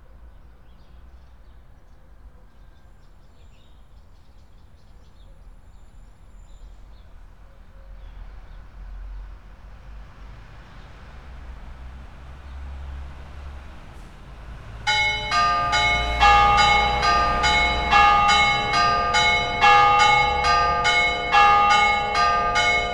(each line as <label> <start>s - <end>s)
church bells ringing 14.8s - 22.9s